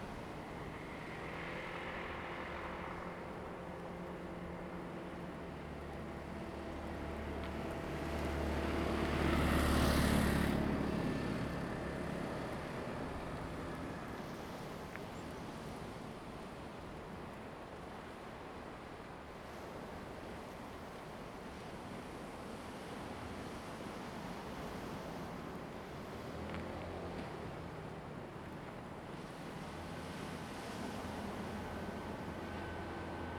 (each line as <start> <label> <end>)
0.0 waves 33.3
29.2 Traffic Sound 33.3